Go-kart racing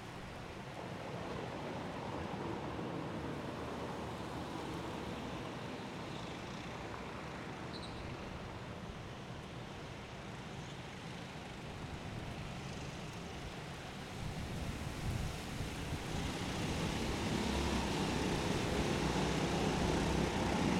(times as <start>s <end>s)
16.1s 20.7s